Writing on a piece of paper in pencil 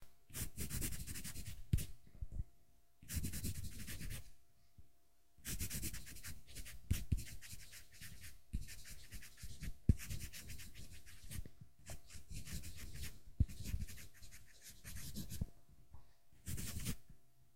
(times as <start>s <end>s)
0.3s 2.0s, 3.0s 4.3s, 5.4s 15.5s, 16.4s 17.1s